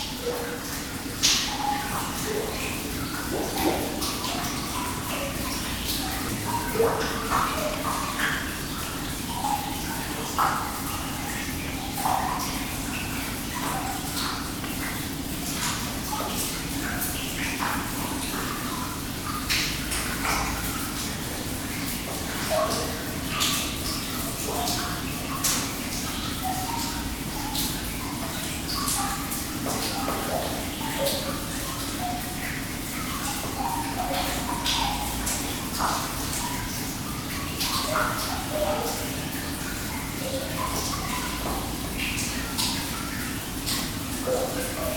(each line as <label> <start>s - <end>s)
water above the pit 0.0s - 44.9s